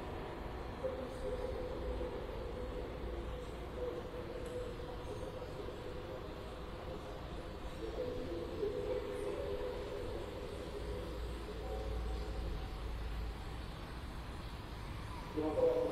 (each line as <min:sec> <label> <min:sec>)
0:00.0 TV playing in distance 0:15.9